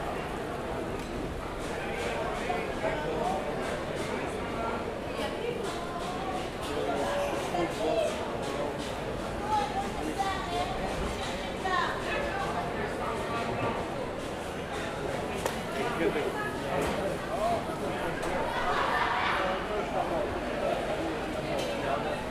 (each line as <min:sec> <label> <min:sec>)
0:00.0 people 0:22.3